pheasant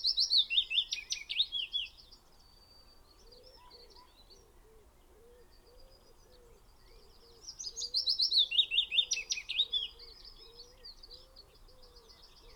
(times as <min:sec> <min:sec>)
0:02.9 0:12.5